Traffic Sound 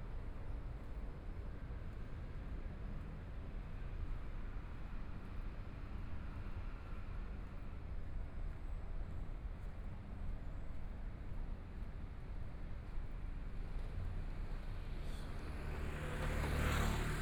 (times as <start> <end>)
14.2 17.2